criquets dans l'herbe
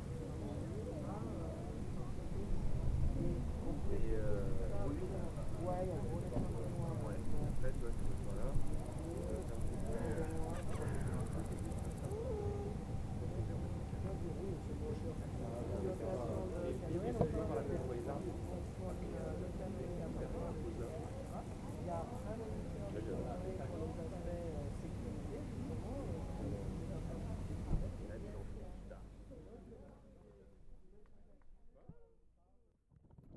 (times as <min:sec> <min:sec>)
0:00.0 0:16.4